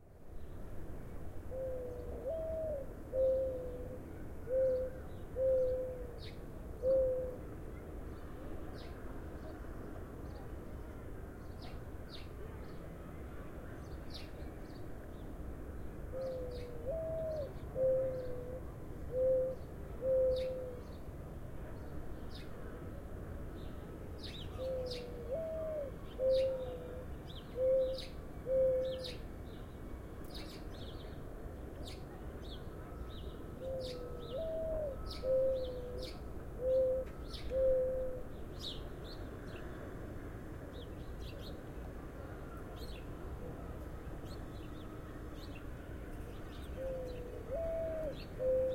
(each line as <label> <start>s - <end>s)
Morning Dove coos 1.4s - 7.7s
Morning Dove coos 16.0s - 21.0s
Morning Dove coos 24.2s - 29.3s
Morning Dove coos 31.8s - 38.8s
Morning Dove coos 46.3s - 48.7s